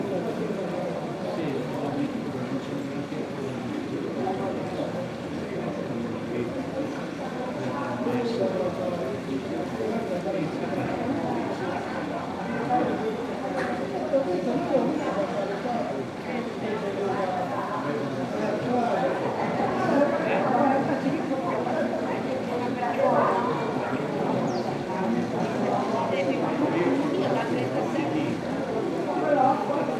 people talking 0:00.0 - 0:29.9
Italian sparrows 0:24.4 - 0:24.7

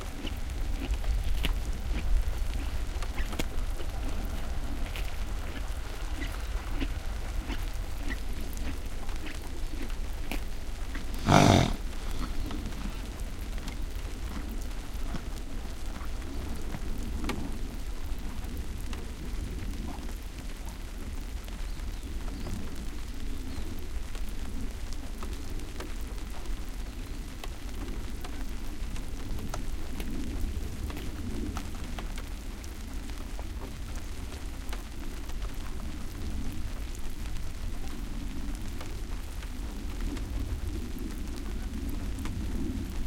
horse grazing 0:00.1 - 0:03.8
horse grazing 0:04.4 - 0:14.4
horse snorts 0:10.9 - 0:13.0

